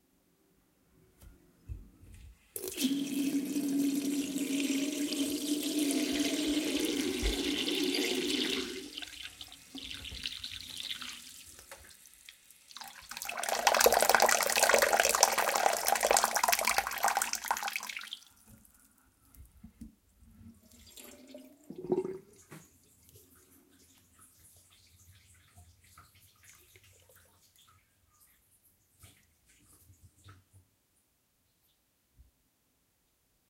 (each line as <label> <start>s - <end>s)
tap pouring water 2.6s - 12.0s
tap pouring water 12.7s - 18.7s
tap pouring water 20.9s - 23.2s